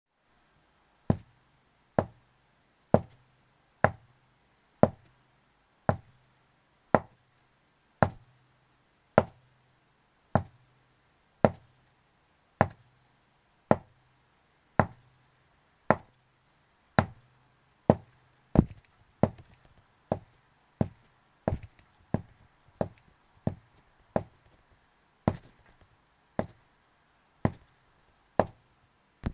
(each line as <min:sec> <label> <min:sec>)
0:18.6 footsteps on wood-1 0:19.5